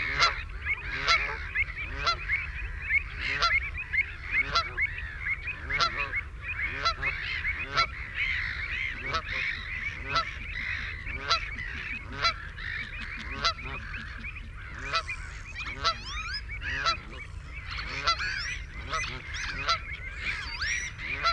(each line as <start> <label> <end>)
0.0 canada goose 21.3
0.0 ringed plover 21.3
4.2 black-headed gull 21.3
4.3 herring gull 21.3
8.9 distant ships 21.3
8.9 shelduck 21.3
9.1 lapwing 21.3
10.4 avocet 21.3